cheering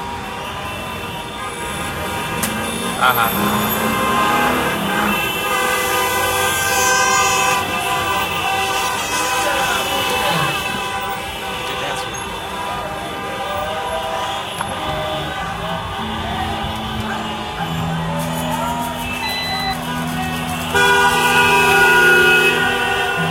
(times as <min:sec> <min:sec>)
0:12.2 0:23.3